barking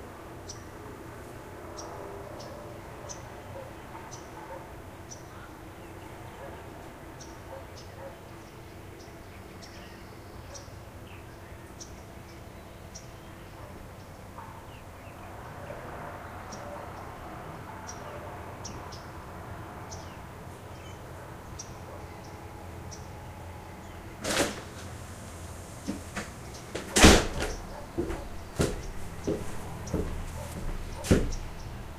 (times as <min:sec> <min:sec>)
0:02.4 0:04.8, 0:06.3 0:06.7, 0:07.5 0:08.2, 0:26.8 0:31.4